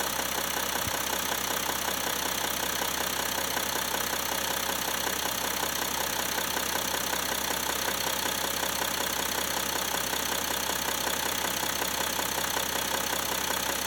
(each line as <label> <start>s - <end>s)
Diesel V6 engine idling 0.0s - 13.8s